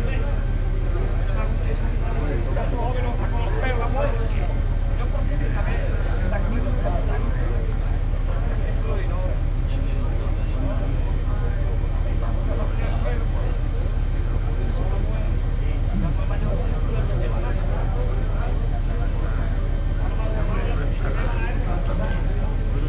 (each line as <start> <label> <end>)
0.0 First boat arrives with the sardines 22.8
0.0 people discussing about the price and quantity 22.8